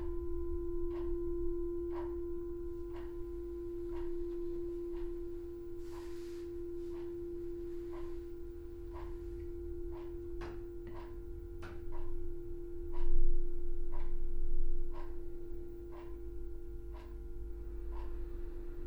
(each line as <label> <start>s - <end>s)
fading sound of the meditation bell 0.0s - 10.7s
clock 0.0s - 18.8s
electric heater buzzes and clicking 0.0s - 18.8s